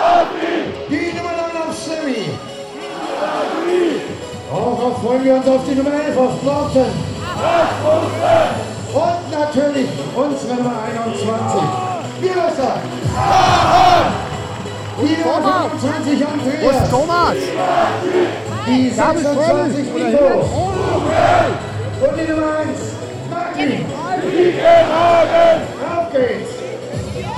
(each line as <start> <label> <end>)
0.9 stadium commentator introducing the teams 2.5
3.1 stadium commentator introducing the teams 13.0
11.2 footbal fans 19.3
14.9 stadium commentator introducing the teams 27.3